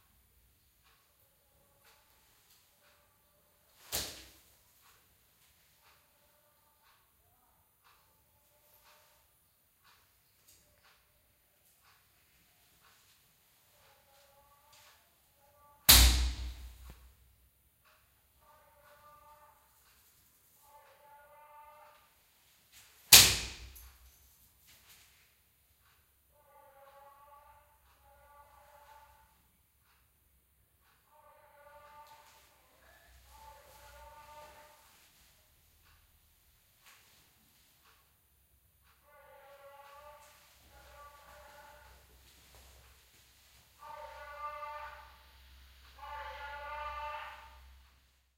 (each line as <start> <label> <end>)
0.0 Clock Ticking 3.9
4.7 Clock Ticking 15.0
16.9 Clock Ticking 22.1
24.8 Clock Ticking 44.0